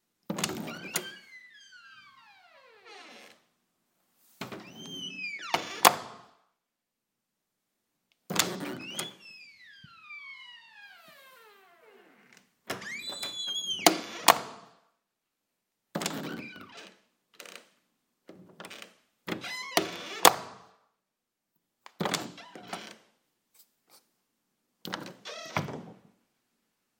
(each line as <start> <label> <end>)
0.3 Door - open and close with latch 3.4
4.4 Door - open and close with latch 6.4
8.3 Door - open and close with latch 11.4
12.2 Door - open and close with latch 14.7
16.0 Door - open and close with latch 17.6
18.3 Door - open and close with latch 20.7
21.9 Door - open and close with latch 23.0
24.8 Door - open and close with latch 26.0